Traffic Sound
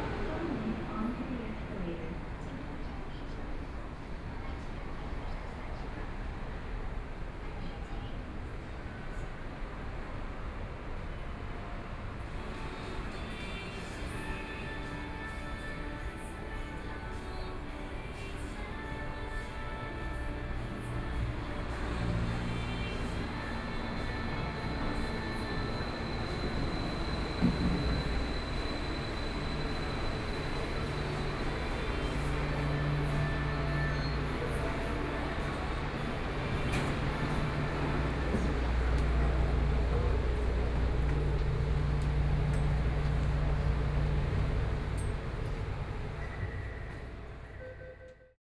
0:36.5 0:47.5

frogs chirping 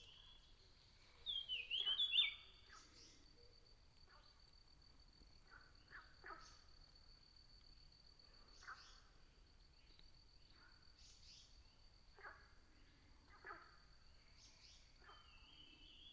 0:00.0 0:07.2

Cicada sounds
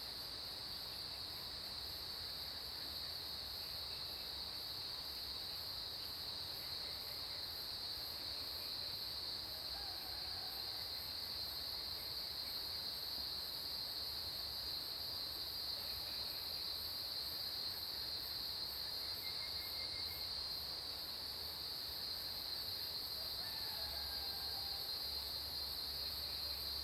0:14.8 0:22.8

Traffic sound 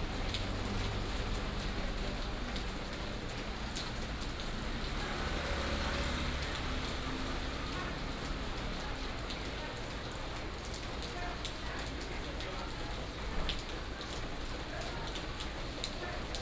0:00.0 0:11.1

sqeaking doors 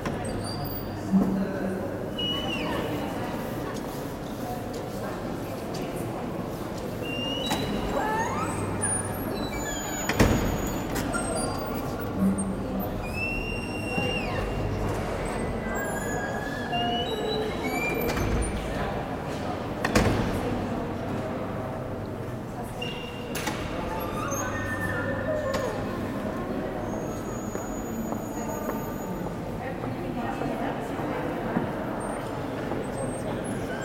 0:06.8 0:19.0, 0:22.8 0:29.1

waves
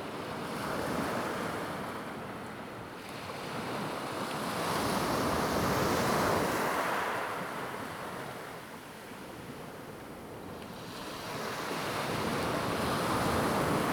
0:03.0 0:13.9

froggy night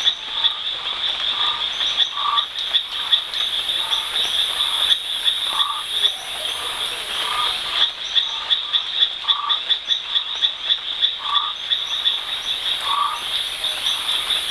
0:01.4 0:08.5, 0:11.2 0:14.5

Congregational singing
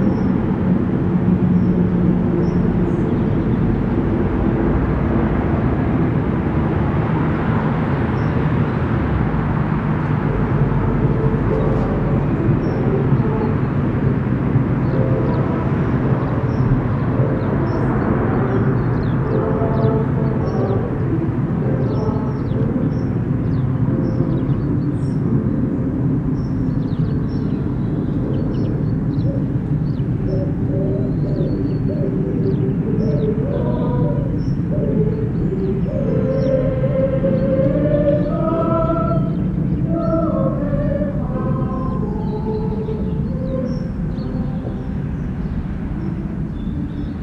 0:09.6 0:27.5, 0:28.1 0:47.2

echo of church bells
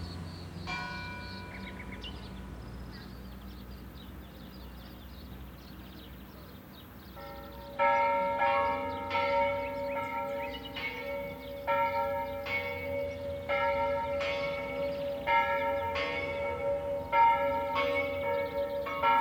0:00.6 0:02.3, 0:07.0 0:19.2

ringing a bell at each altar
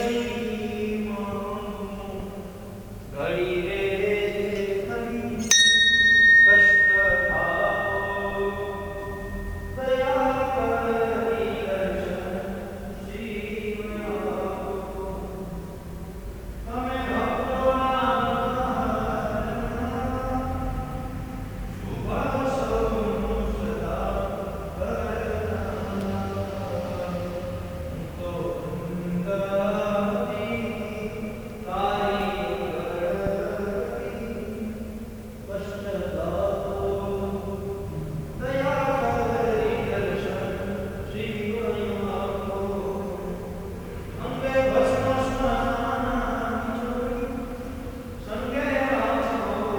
0:05.4 0:12.6

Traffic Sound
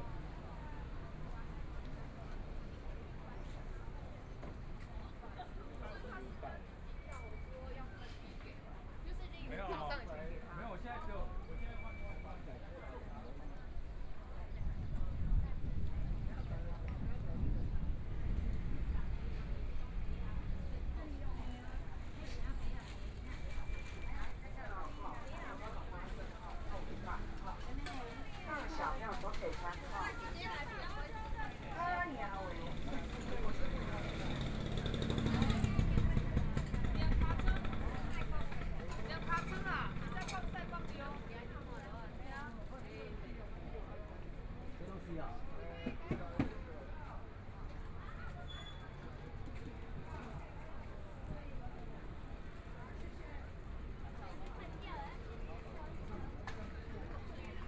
0:17.7 0:42.6

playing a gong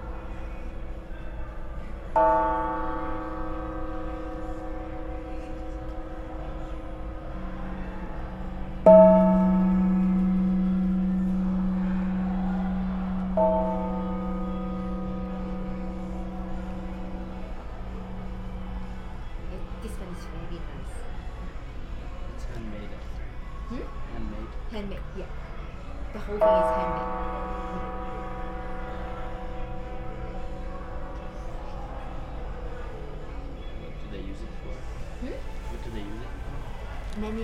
0:02.2 0:20.6, 0:26.2 0:31.9

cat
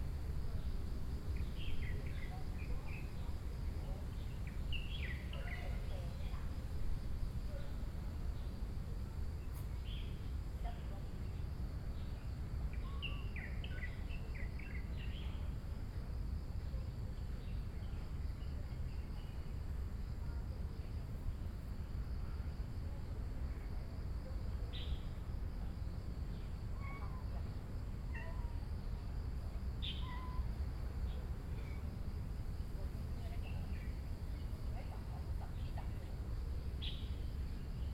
0:26.7 0:28.8, 0:29.9 0:30.5

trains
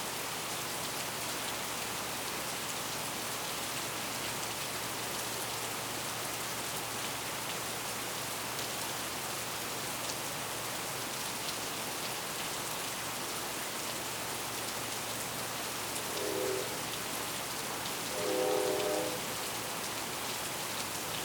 0:16.0 0:17.2, 0:18.0 0:19.7

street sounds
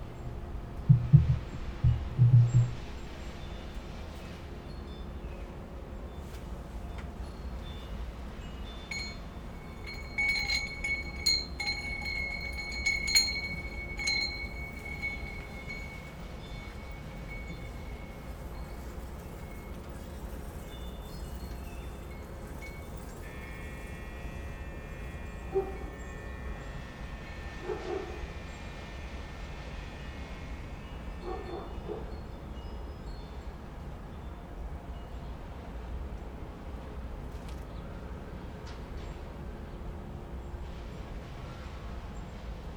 0:00.0 0:28.1

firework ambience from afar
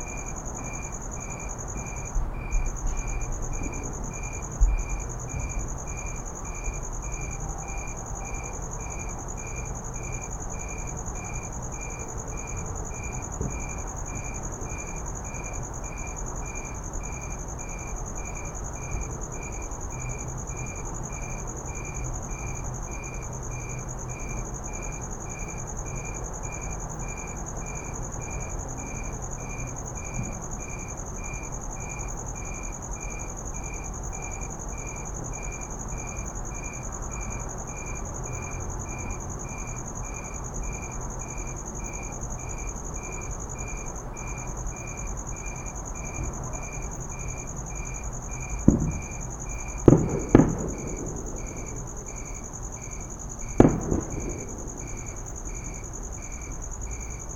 0:47.6 0:57.3

